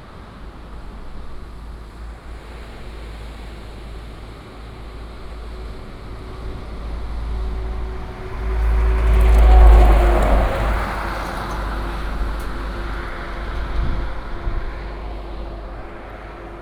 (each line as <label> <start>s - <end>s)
waves 0.0s - 16.6s
Traffic sound 0.8s - 16.6s